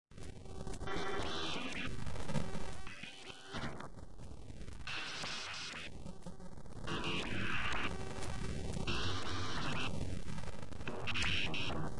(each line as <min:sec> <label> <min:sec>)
0:10.6 glitch 0:11.9